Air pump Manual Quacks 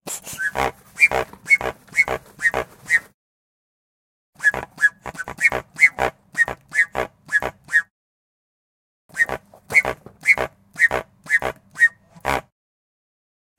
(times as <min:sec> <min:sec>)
0:00.0 0:03.2, 0:04.4 0:07.9, 0:09.1 0:12.5